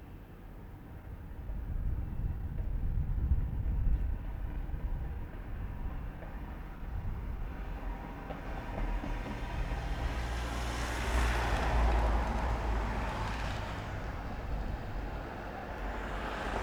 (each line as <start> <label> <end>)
8.3 all sorts of cars 16.6